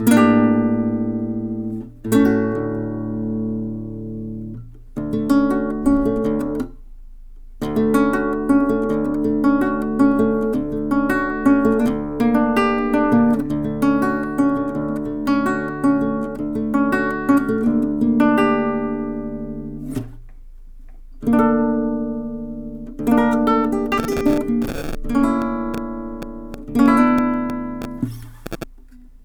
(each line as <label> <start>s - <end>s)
acoustic guitar pretty notes 0.0s - 6.9s
acoustic guitar pretty notes 21.3s - 28.8s